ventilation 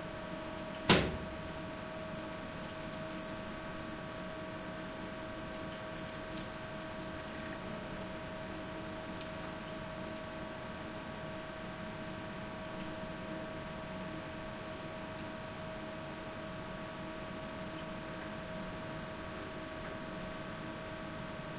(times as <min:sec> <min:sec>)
0:00.0 0:11.1